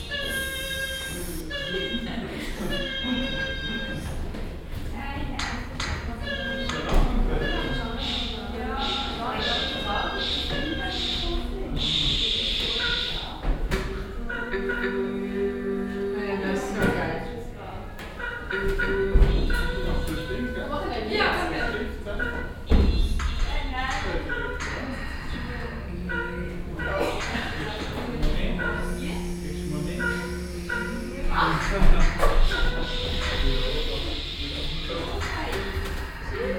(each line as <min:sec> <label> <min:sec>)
0:00.0 publikum 0:04.2
0:25.8 publikum 0:34.4